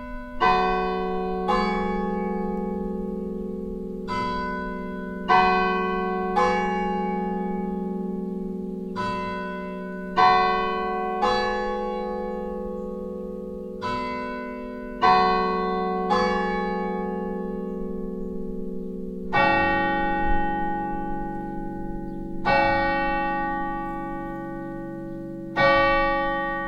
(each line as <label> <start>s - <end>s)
bells 0.0s - 26.6s